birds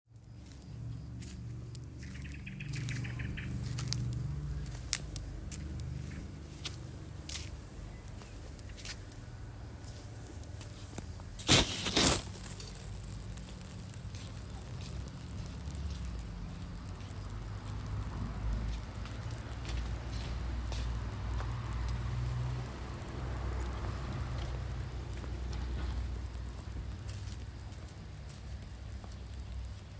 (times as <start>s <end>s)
0.2s 5.0s